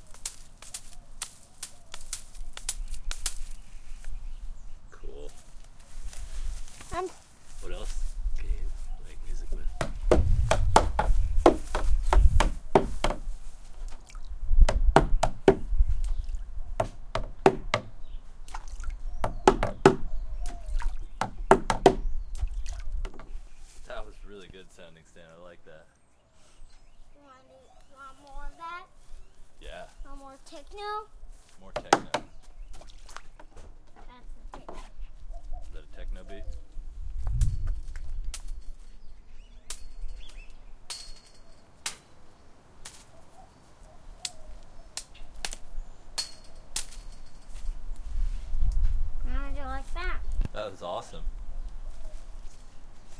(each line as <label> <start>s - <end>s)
banging on various things 9.8s - 13.3s
banging on various things 14.6s - 15.7s
banging on various things 19.2s - 20.1s
banging on various things 21.2s - 22.1s
banging on various things 23.0s - 23.4s
banging on various things 31.7s - 32.4s
banging on various things 39.7s - 42.0s
banging on various things 46.2s - 47.7s